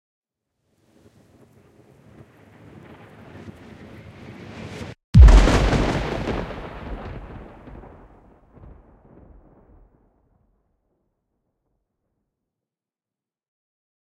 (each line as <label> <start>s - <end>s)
simulated missile strike 5.2s - 9.4s